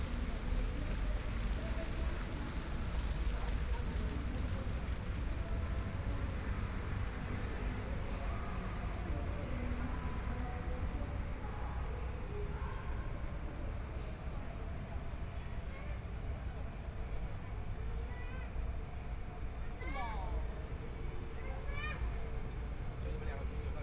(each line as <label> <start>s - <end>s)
Walking along the outside of shopping malls 0.0s - 23.8s